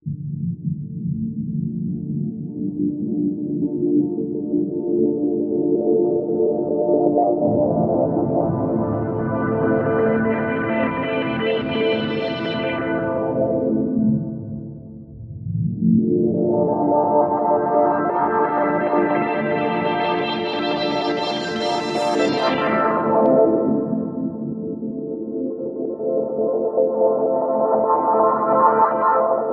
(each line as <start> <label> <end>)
1.0 pad sequenced with a chord 29.5